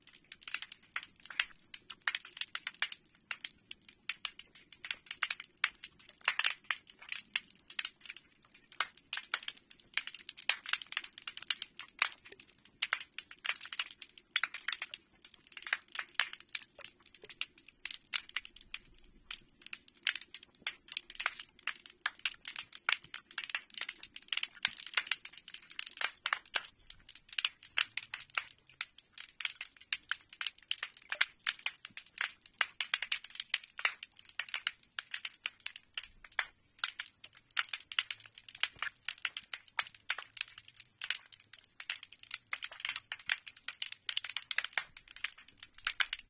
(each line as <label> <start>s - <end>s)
snapping shrimp 0.1s - 46.2s